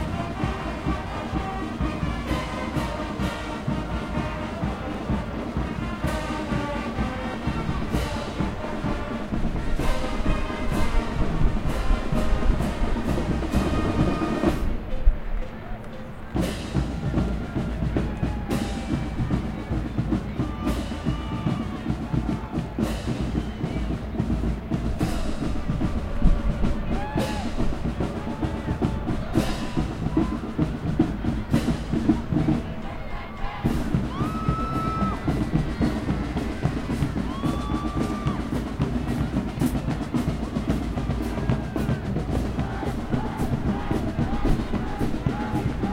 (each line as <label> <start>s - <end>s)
parade 0.0s - 45.9s